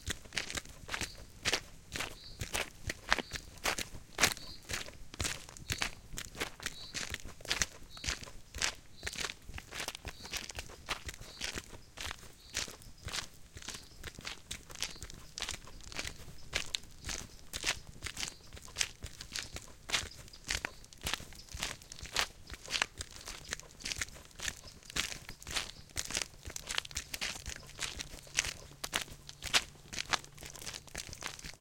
0.0s male & female footsteps walking on gravel 31.6s

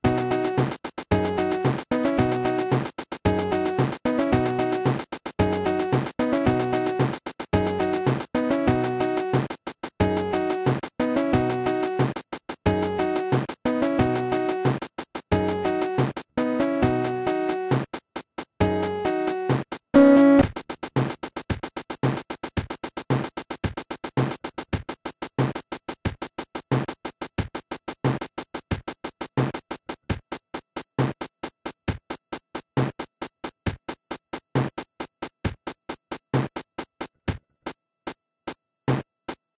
0.0s accompaniment section from a cheap kids keyboard 25.2s
0.0s percussion only version 38.2s

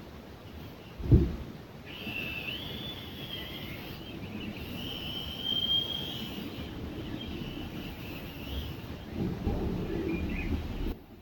1.9s Whistle from central heating radiator 4.0s
4.7s Whistle from central heating radiator 6.6s

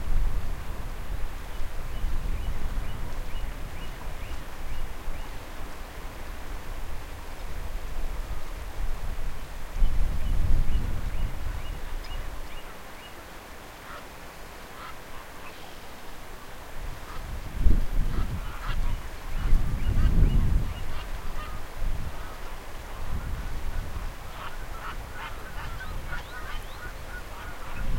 0.0s wind noise 12.6s
10.4s fast-flowing river 27.9s
14.7s bird calls echoing off the river 16.1s
16.6s wind noise 27.9s
24.0s bird calls echoing off the river 27.9s

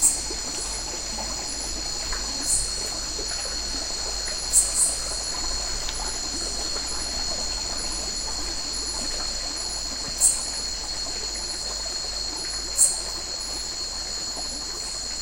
0.0s cicada 15.2s
0.0s crickets 15.2s
0.0s small stream 15.2s

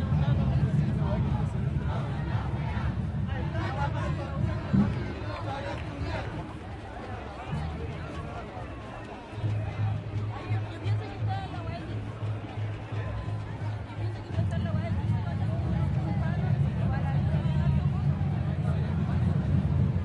0.0s crowd 20.0s
0.0s drums 20.0s

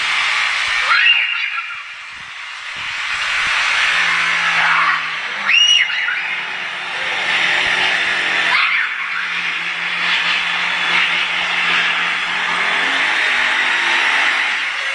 0.0s drilling something on his balcony 14.9s
4.4s children 9.6s

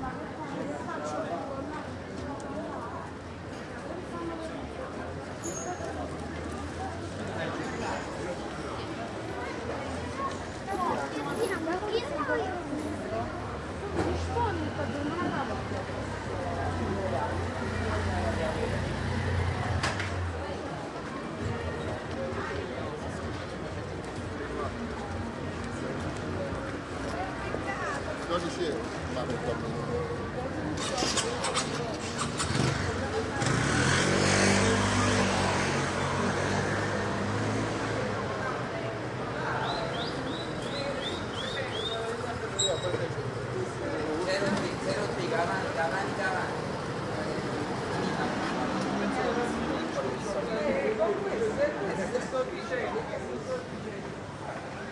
0.0s walking among people 54.9s

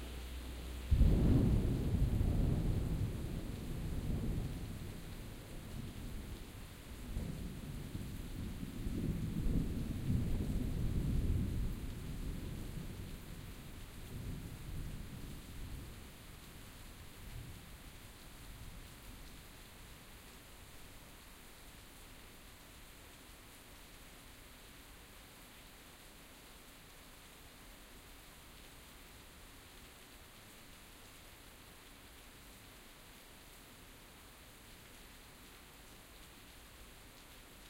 0.0s rain 37.6s
0.9s thunder 6.3s
7.1s thunder 13.2s

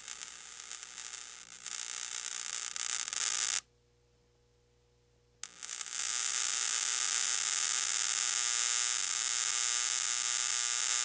0.0s Bug Zapper2 3.6s
5.4s Bug Zapper2 11.0s

